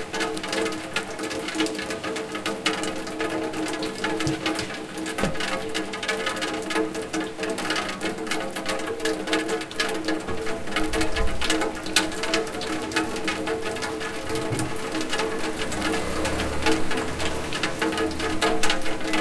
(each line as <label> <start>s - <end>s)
rain through rainwater down pipe 0.0s - 19.2s